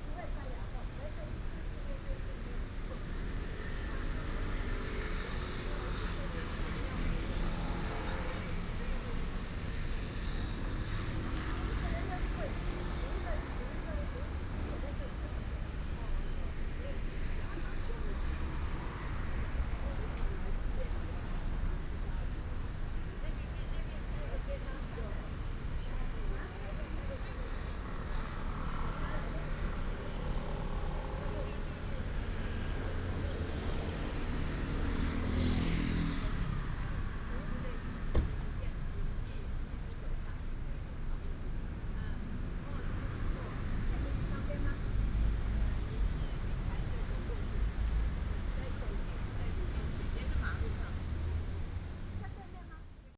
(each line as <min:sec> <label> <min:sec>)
0:00.0 Several women are chatting 0:53.1
0:00.0 traffic sound 0:53.1